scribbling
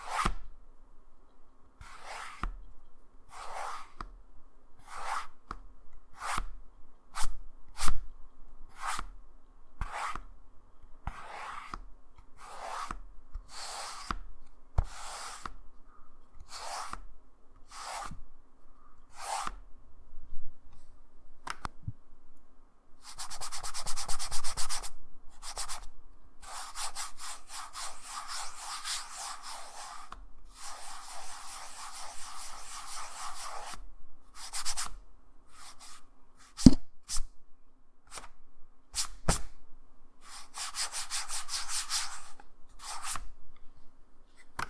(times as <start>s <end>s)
14.8s 15.6s, 26.4s 33.8s